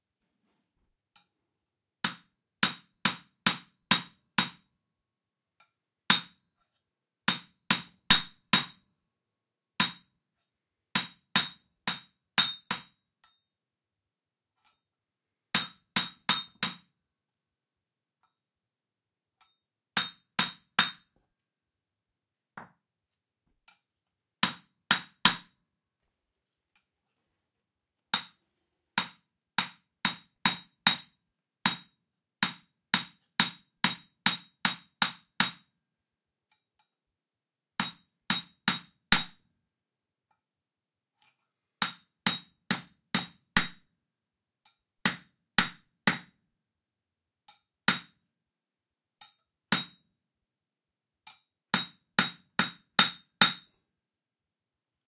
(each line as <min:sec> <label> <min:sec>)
0:02.0 Anvil & Copper Hammer 0:04.8
0:06.1 Anvil & Copper Hammer 0:06.6
0:07.2 Anvil & Copper Hammer 0:08.9
0:09.8 Anvil & Copper Hammer 0:10.2
0:10.9 Anvil & Copper Hammer 0:13.5
0:15.5 Anvil & Copper Hammer 0:17.0
0:19.4 Anvil & Copper Hammer 0:21.3
0:23.7 Anvil & Copper Hammer 0:25.6
0:28.1 Anvil & Copper Hammer 0:28.4
0:29.0 Anvil & Copper Hammer 0:35.8
0:37.8 Anvil & Copper Hammer 0:39.6
0:41.2 Anvil & Copper Hammer 0:43.9
0:44.7 Anvil & Copper Hammer 0:46.4
0:47.5 Anvil & Copper Hammer 0:48.3
0:49.2 Anvil & Copper Hammer 0:50.2
0:51.3 Anvil & Copper Hammer 0:54.4